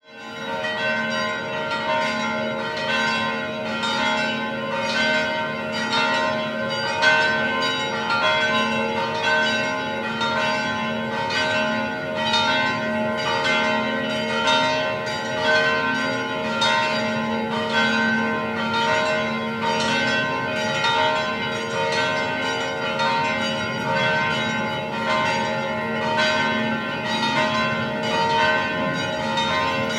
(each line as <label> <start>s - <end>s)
Church Bells 0.0s - 29.9s